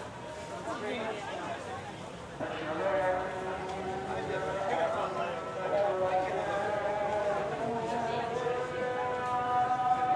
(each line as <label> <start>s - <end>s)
Call to Prayer 2.4s - 10.1s